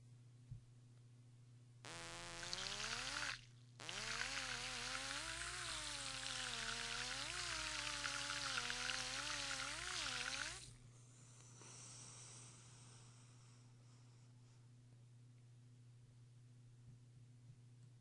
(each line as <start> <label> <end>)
1.9 bubbles that leave 10.7